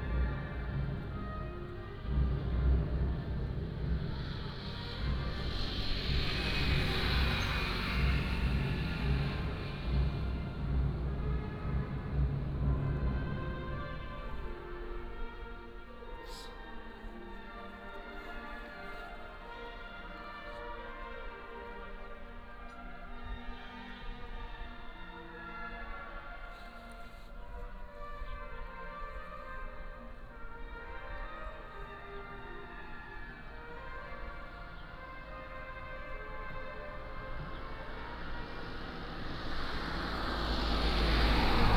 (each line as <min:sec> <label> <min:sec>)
0:00.0 Traffic Sound 0:17.4
0:00.0 voice of the school orchestra 0:41.7
0:26.5 Traffic Sound 0:41.7